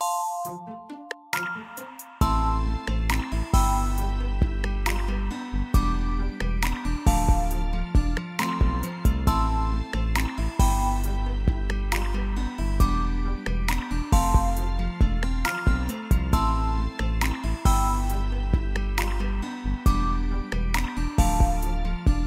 guitar 0:00.0 - 0:22.2

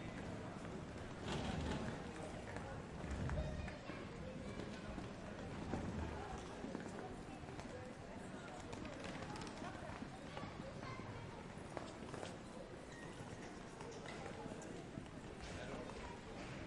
crowd 0:00.0 - 0:16.6

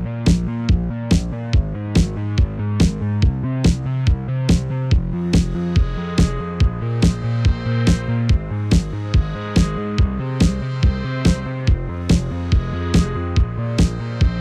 Bassline 0:00.0 - 0:14.4
Kick 0:00.0 - 0:14.4
Synth 0:00.0 - 0:14.4
Snare 0:02.0 - 0:03.9

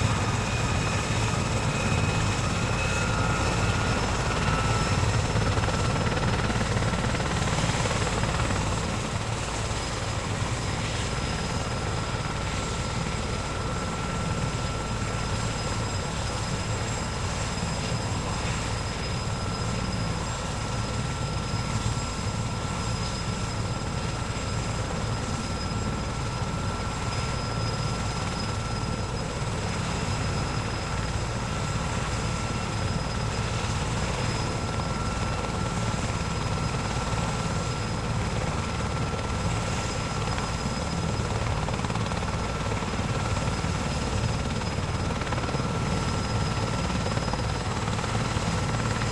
helicopter 0:00.0 - 0:49.1

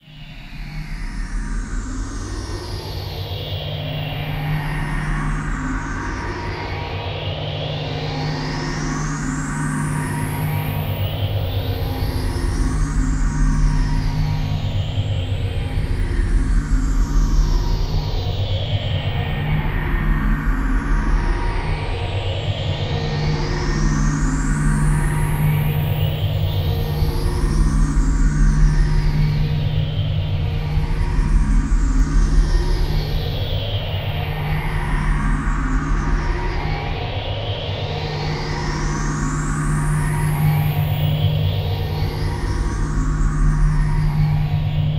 sine tone sweep 0:07.8 - 0:44.9

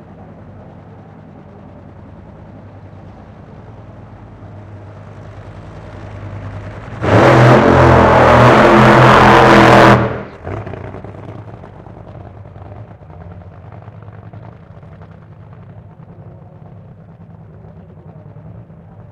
Top Fuel Burn Out 0:02.2 - 0:19.1

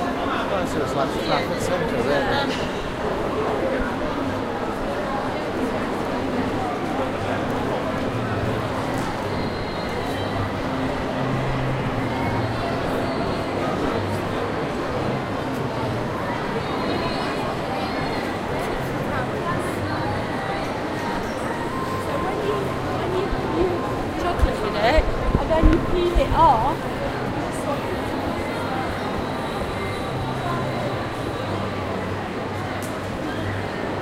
people busy shopping mall 0:00.0 - 0:34.0

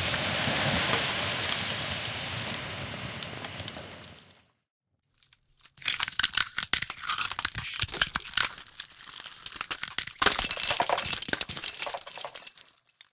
Putting out a fire with water 0:00.0 - 0:04.5
Twisting a plastic tray full of frozen ice 0:05.0 - 0:13.1
Chipping an Ice block with a mallet and icepick 0:09.4 - 0:12.3

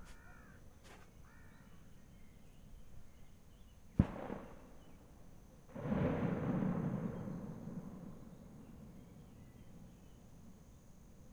birds 0:00.0 - 0:05.1
trees 0:00.0 - 0:11.3
fireworks 0:04.0 - 0:05.1
fireworks 0:05.7 - 0:09.2

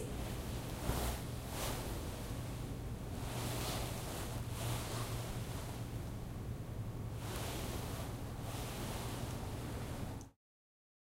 Curtsie in a satin dress 0:07.2 - 0:10.2

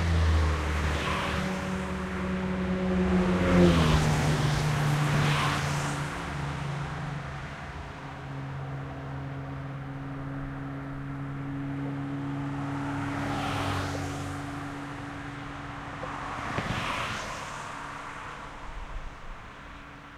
car pass bys over dividers 0:00.0 - 0:20.1

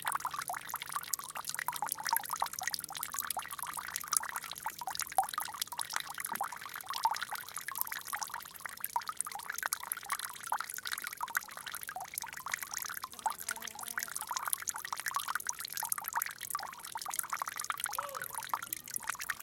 Fast Dropping Water 0:10.6 - 0:19.4

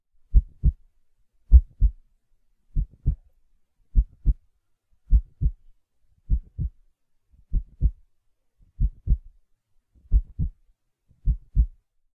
steady heartbeat 0:00.3 - 0:00.8
steady heartbeat 0:01.5 - 0:02.0
steady heartbeat 0:02.8 - 0:03.3
steady heartbeat 0:04.0 - 0:04.4
steady heartbeat 0:05.1 - 0:05.7
steady heartbeat 0:06.3 - 0:06.8
steady heartbeat 0:07.4 - 0:08.0
steady heartbeat 0:08.7 - 0:09.3
steady heartbeat 0:10.0 - 0:10.6
steady heartbeat 0:11.2 - 0:11.8

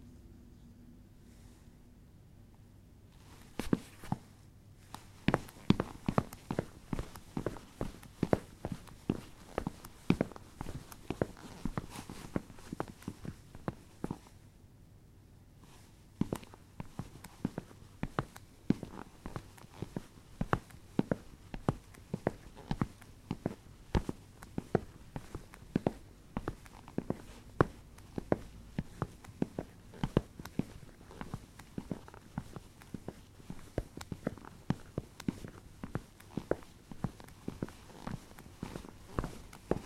Walking on wooden floor with sport shoes 0:03.2 - 0:04.3
Walking on wooden floor with sport shoes 0:04.9 - 0:14.2
Walking on wooden floor with sport shoes 0:16.2 - 0:39.8

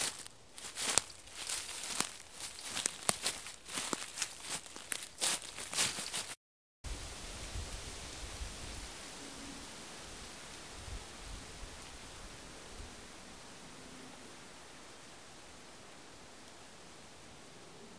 crunchy step walking leafes leaves 0:00.0 - 0:06.4

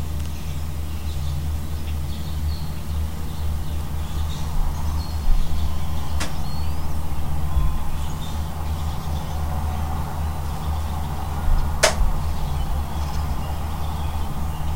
robin 0:00.2 - 0:14.7

